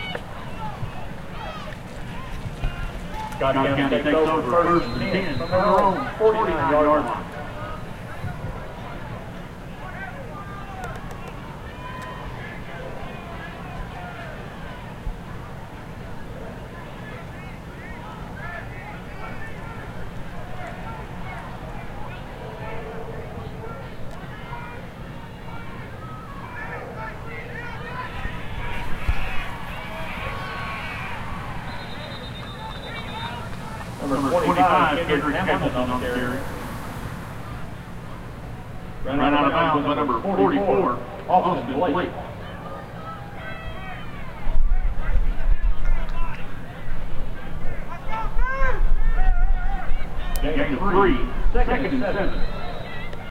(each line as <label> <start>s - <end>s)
American football 0.0s - 53.3s
crowd 0.0s - 53.3s